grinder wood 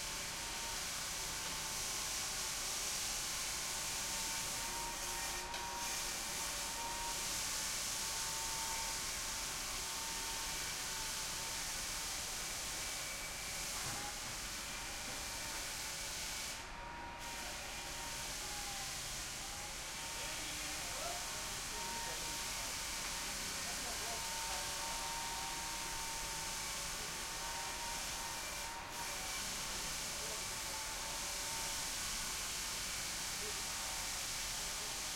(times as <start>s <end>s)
3.7s 7.2s, 21.2s 29.4s